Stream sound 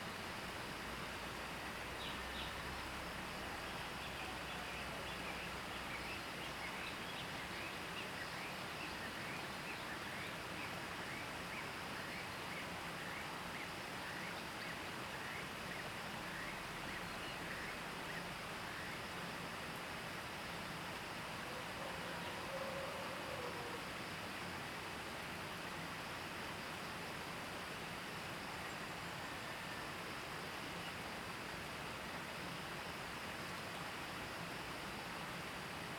23.8s 35.9s

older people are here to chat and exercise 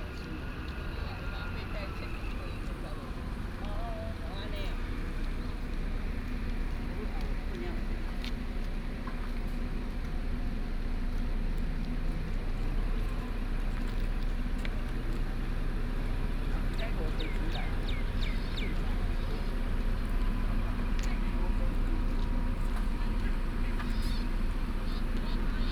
14.4s 25.7s

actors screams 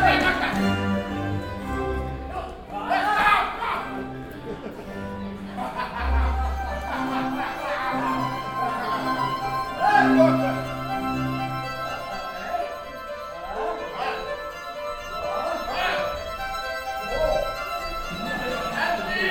2.7s 4.0s

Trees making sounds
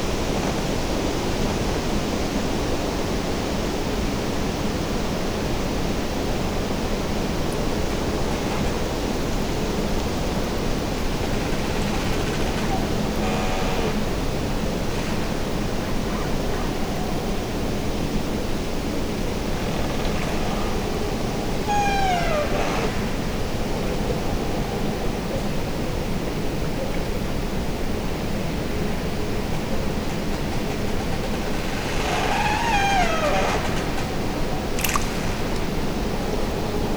6.7s 24.8s, 29.8s 36.9s

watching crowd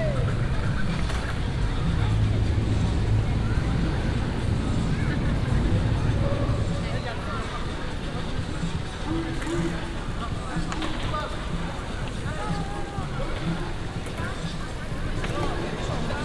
0.0s 10.7s

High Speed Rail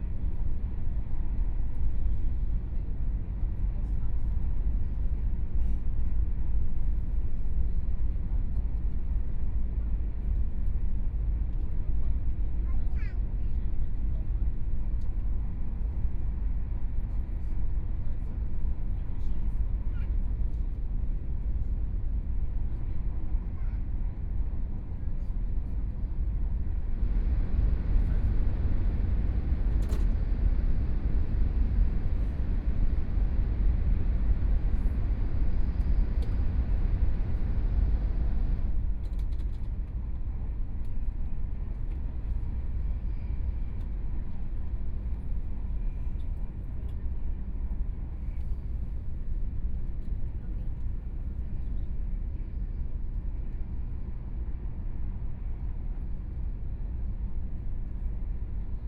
20.6s 58.8s

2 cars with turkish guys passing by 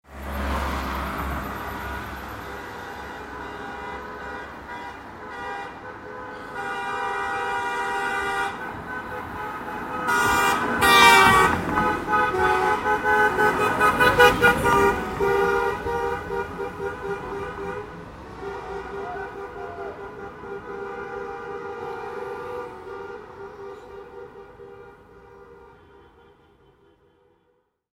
0.1s 5.1s, 8.5s 25.6s

